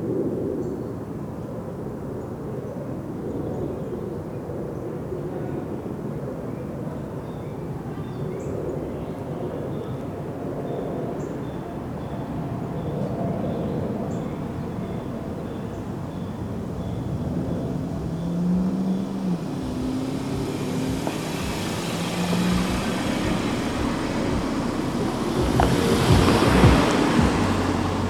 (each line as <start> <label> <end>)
1.8 overhead plane 28.0
5.0 cars 28.0
9.6 golf carts traveling around the bend 28.0